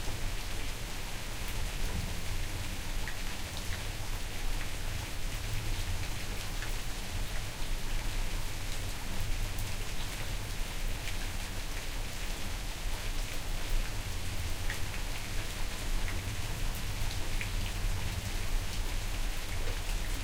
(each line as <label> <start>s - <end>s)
Medium rain 0.0s - 20.2s